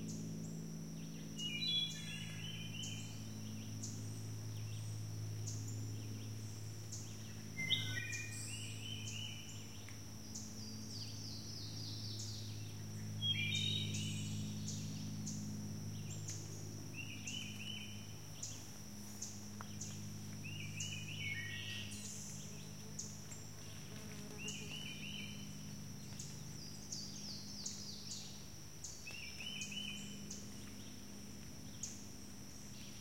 chorus of summer insects 0.0 - 33.0
plane is lazily droning overhead 0.0 - 33.0

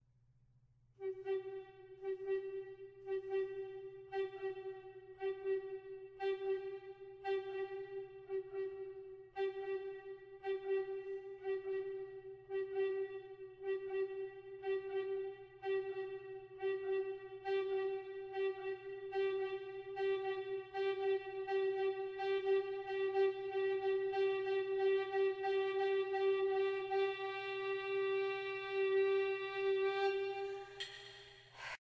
alto recorder 1.0 - 31.8
breath sound 31.5 - 31.8

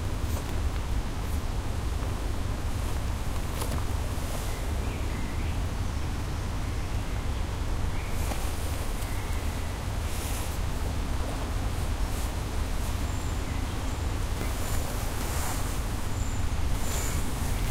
rummaging about on occasions 2.7 - 4.6
birds tweeting 3.0 - 17.7

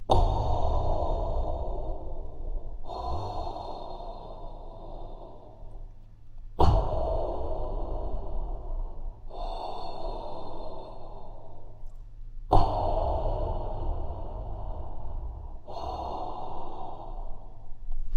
Darth Vader Breathing 0.1 - 17.9

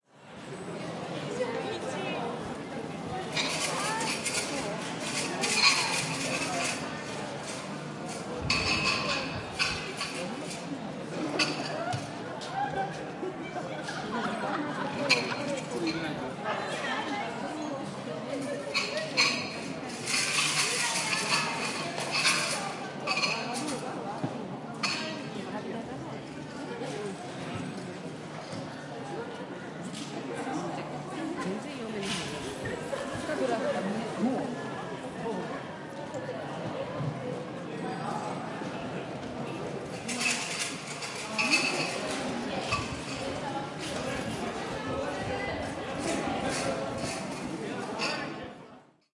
people shaking Omikuji, a metal box containing fortune sticks 3.4 - 6.8
people shaking Omikuji, a metal box containing fortune sticks 18.7 - 23.4
people shaking Omikuji, a metal box containing fortune sticks 40.1 - 43.9

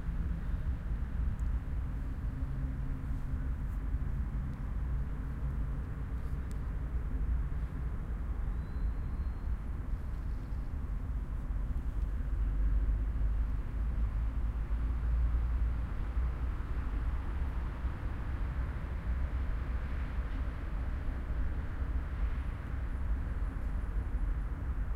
cars 0.0 - 24.9

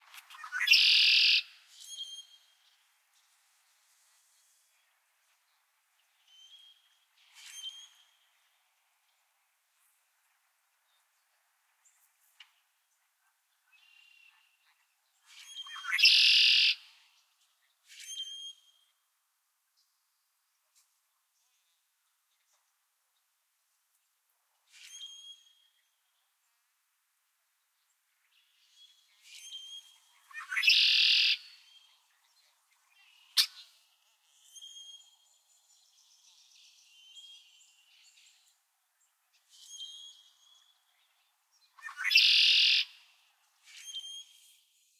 red-winged blackbird 0.2 - 2.7
red-winged blackbird 13.8 - 17.3
red-winged blackbird 28.3 - 38.5
red-winged blackbird 39.3 - 44.6

